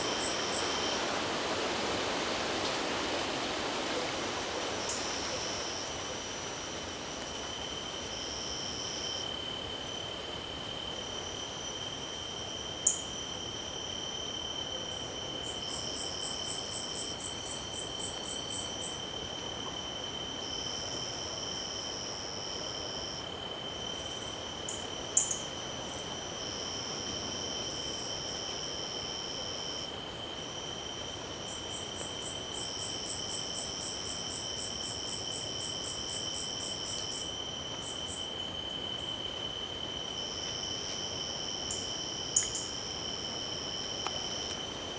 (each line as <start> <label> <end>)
0.0 crickets 44.9
0.0 light wind in the trees 44.9